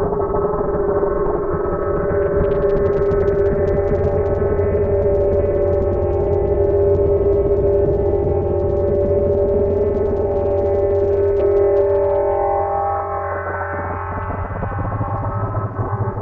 1.2s impression of fire 16.2s

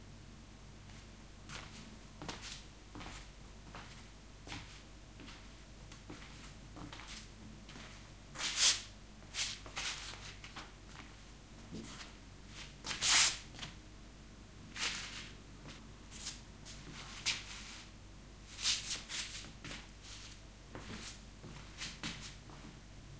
0.8s Footsteps on tiled floor 8.6s
9.2s Footsteps on tiled floor 13.8s
14.9s Footsteps on tiled floor 17.9s
18.6s Footsteps on tiled floor 22.8s
18.6s footscuffling 22.8s

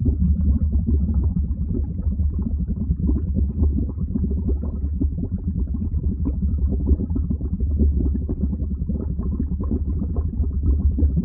0.0s Heavy Bubbles 11.2s

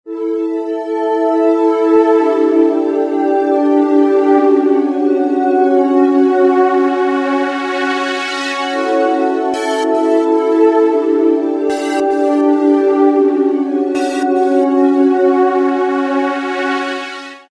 11.7s bright pulsing tone 12.9s
14.0s bright pulsing tone 15.1s

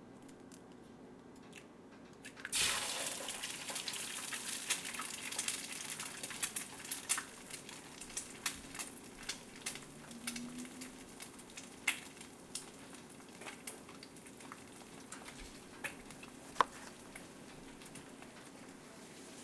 2.2s eggs frying 18.7s
2.5s coffee being made 19.4s
2.5s toaster 10.9s

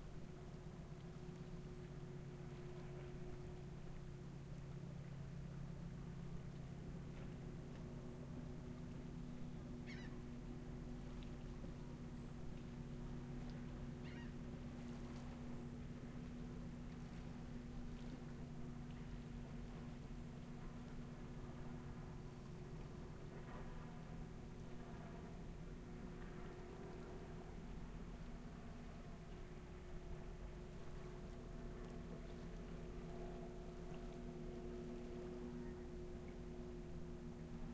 0.0s boats 37.7s
9.9s seagulls 10.2s
14.0s seagulls 14.4s

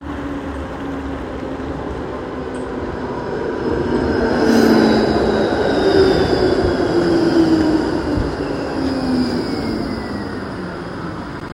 0.0s Tram sound 11.5s
0.0s rain 3.0s

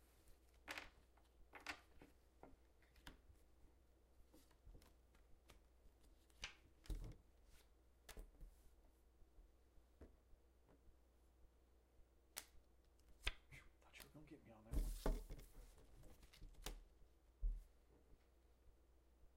12.3s Quietly playing cards 16.9s

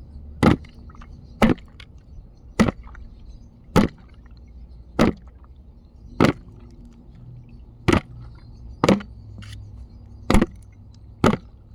0.4s plastic paint buckets banging against each other 1.9s
2.6s plastic paint buckets banging against each other 3.0s
3.7s plastic paint buckets banging against each other 4.2s
5.0s plastic paint buckets banging against each other 5.4s
6.2s plastic paint buckets banging against each other 6.8s
7.8s plastic paint buckets banging against each other 9.7s
10.3s plastic paint buckets banging against each other 11.6s

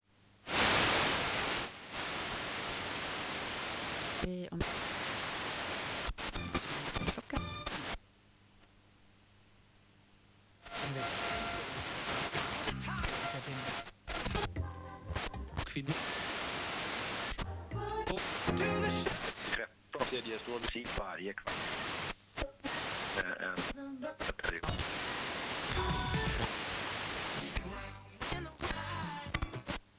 0.5s Radio static 8.0s
10.6s Radio static 14.5s
15.2s Radio static 17.4s
18.0s Radio static 27.6s

